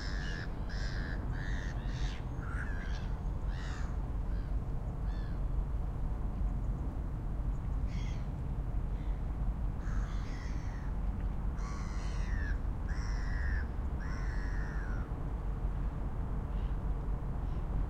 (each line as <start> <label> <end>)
0.0 Distant gulls 5.4
0.0 water 9.8
0.0 boats 17.8
7.9 Distant gulls 8.3
9.8 Distant gulls 10.9
10.6 water 14.0
11.6 Distant gulls 15.1